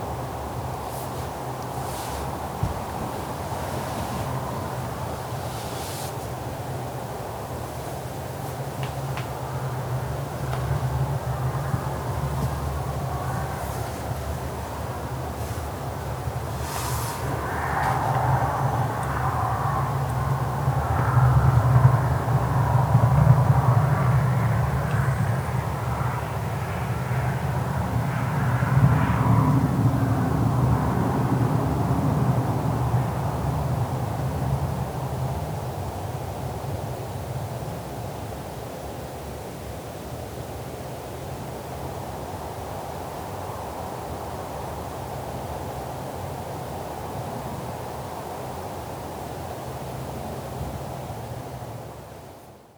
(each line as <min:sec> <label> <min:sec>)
0:00.0 Windstorm 0:35.6